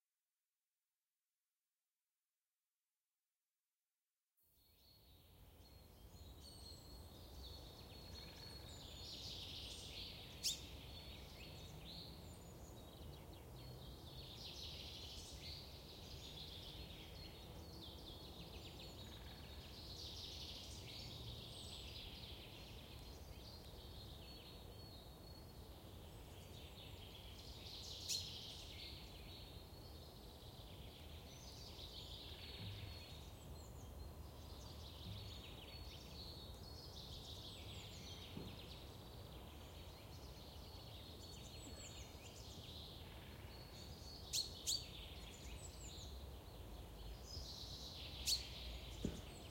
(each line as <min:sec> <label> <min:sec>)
0:04.8 birds 0:49.5